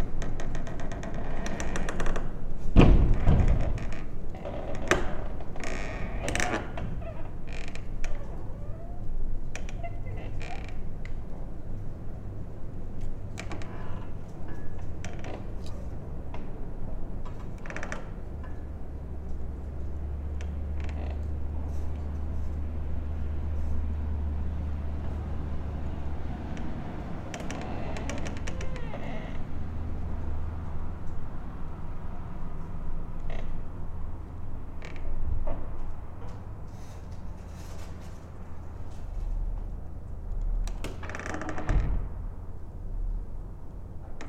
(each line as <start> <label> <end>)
0.0 entrance door swaying in the wind 44.2